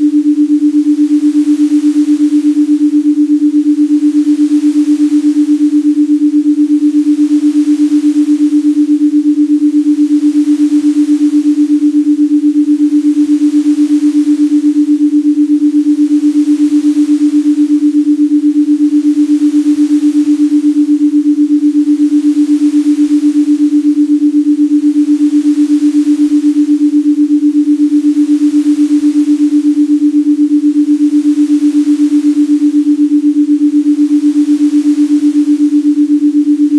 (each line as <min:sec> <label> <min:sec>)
0:00.0 Binaural beats 0:36.7